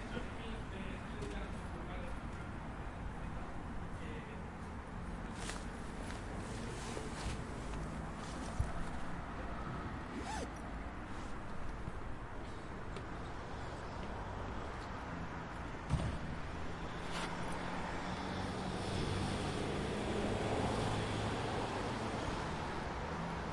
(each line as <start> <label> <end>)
0.0 cars of the next street 23.5